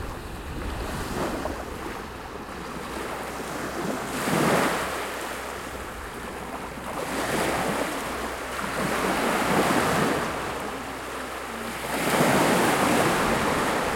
motor boats in distance 0.0 - 13.9
Voices 4.9 - 13.9

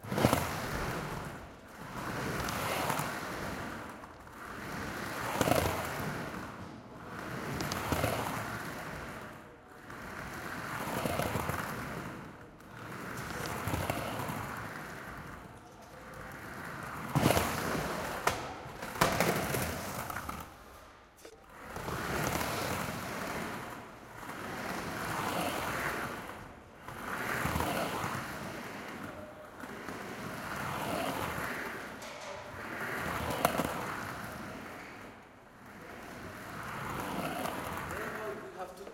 Skateboard Roll 0.0 - 38.9

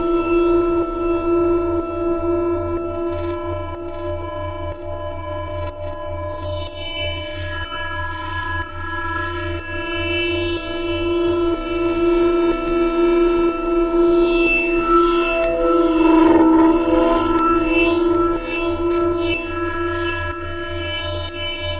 sinister, granular synthesized sounds 14.6 - 19.4
glitch 15.3 - 18.5

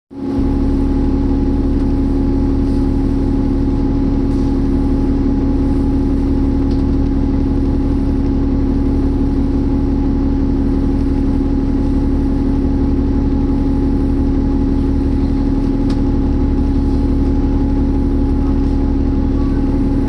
bus idling 0.1 - 20.0

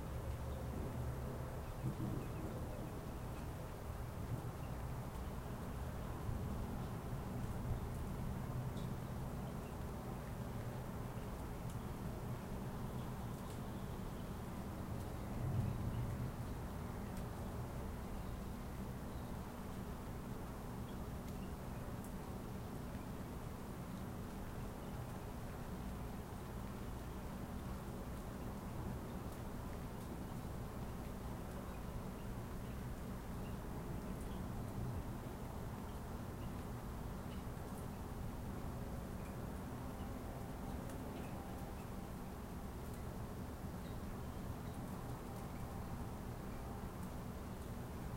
rain 0.0 - 48.1
thunder 1.8 - 2.7

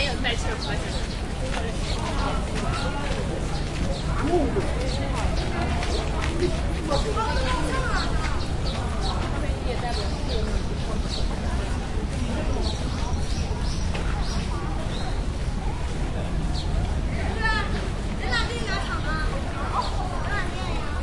people talking in Korean 0.0 - 15.0
Birds 0.0 - 21.0
people talking in Korean 15.6 - 21.0

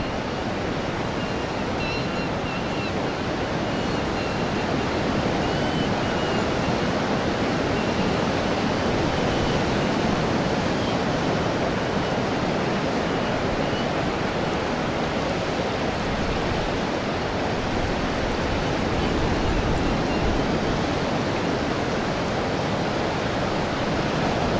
waves of incoming tide 0.0 - 24.5

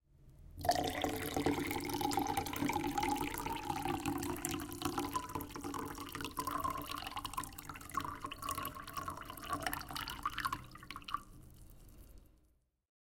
Water, pouring into glass 0.6 - 12.2

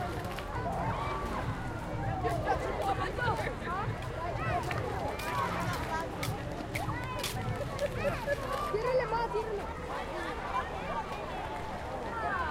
hotel guests both in and out of the pool 0.0 - 12.5

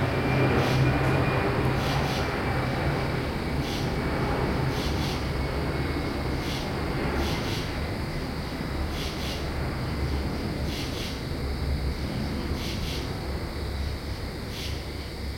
cicadas 0.0 - 15.3
crickets 0.0 - 15.3
jet flyover 0.0 - 15.3

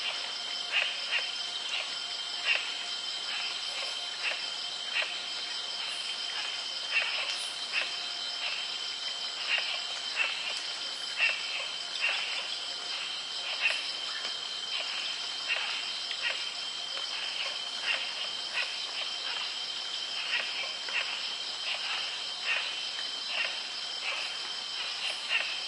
creek 0.0 - 25.6
light crickets 0.0 - 25.6

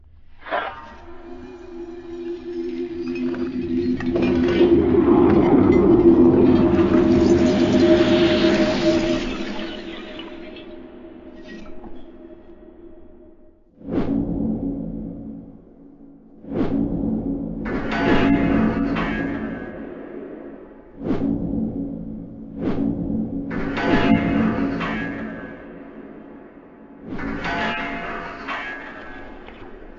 metallic objects hitting/impacting each other 17.6 - 20.1
metallic objects hitting/impacting each other 23.5 - 26.1
metallic objects hitting/impacting each other 27.0 - 29.9

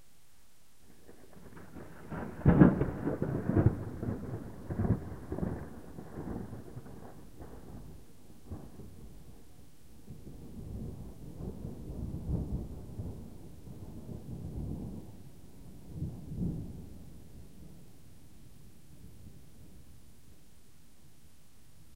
rainstorm 0.0 - 21.9
Huge thunder 0.9 - 17.8

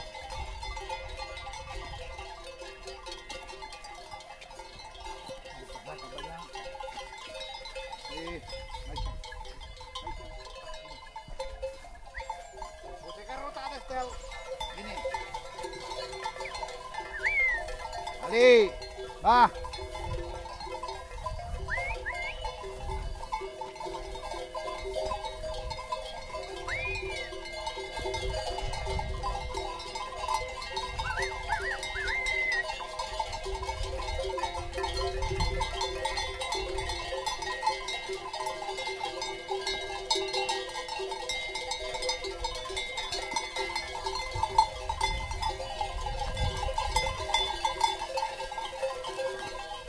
sheeps 0.0 - 46.0
shepherd 10.0 - 28.0
shepherd 29.6 - 34.0

